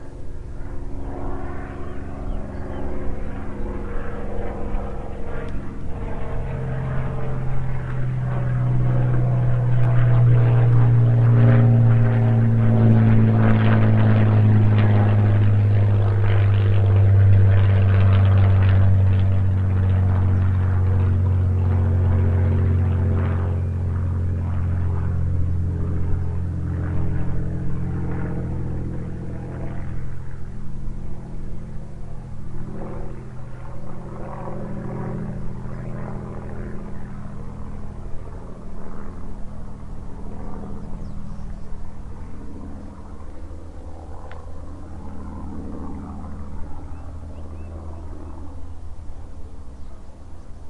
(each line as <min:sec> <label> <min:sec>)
0:00.0 spitfire flying overhead 0:50.6
0:01.7 bird noise 0:04.0
0:40.4 bird noise 0:43.8
0:46.4 bird noise 0:50.6